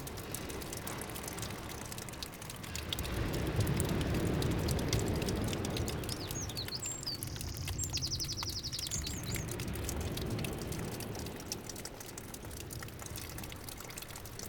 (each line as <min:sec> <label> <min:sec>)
0:00.0 small water stream 0:14.4